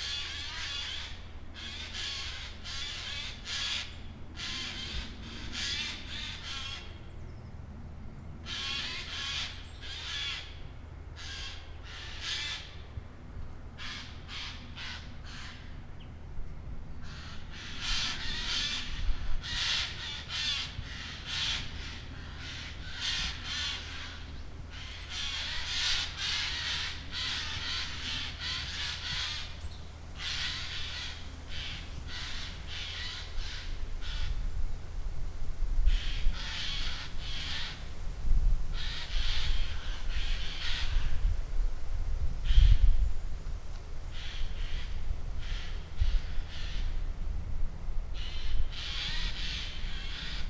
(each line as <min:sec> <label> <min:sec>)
0:17.0 magpies having an argument high in the trees 0:34.6
0:35.8 magpies having an argument high in the trees 0:38.1
0:48.1 magpies having an argument high in the trees 0:50.4